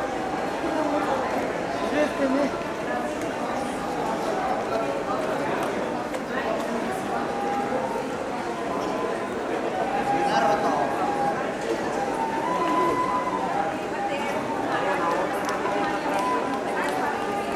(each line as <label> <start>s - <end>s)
Man playing a traditional flute 0.0s - 2.6s
Man playing a traditional flute 6.3s - 17.5s